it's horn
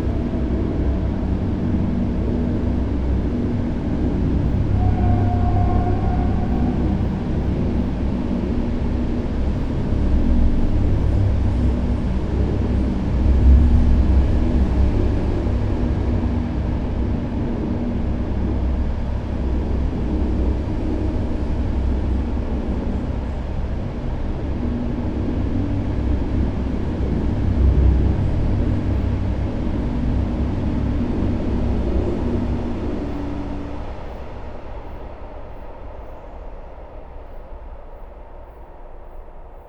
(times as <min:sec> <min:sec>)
0:04.6 0:07.8